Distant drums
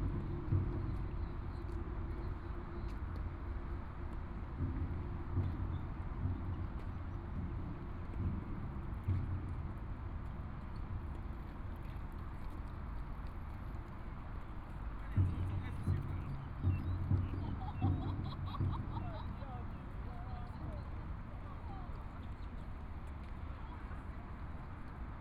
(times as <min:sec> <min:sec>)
0:15.1 0:21.8